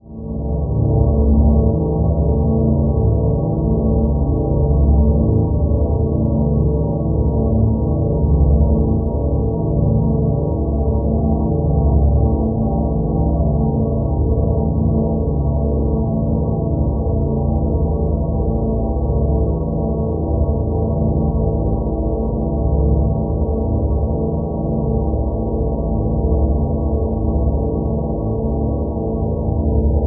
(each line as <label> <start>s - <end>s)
drone 0.0s - 30.0s